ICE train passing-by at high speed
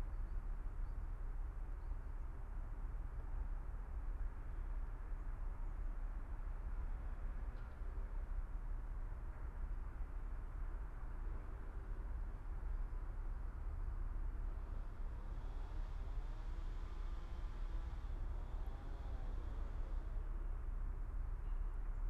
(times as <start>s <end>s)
14.2s 20.4s